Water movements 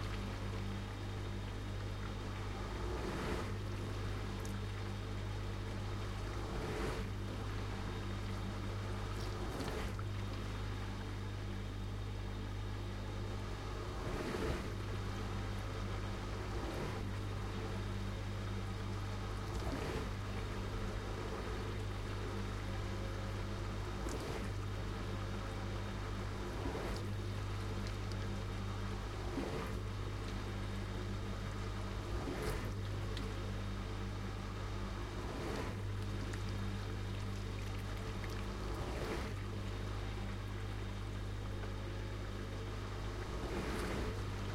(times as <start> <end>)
35.0 44.5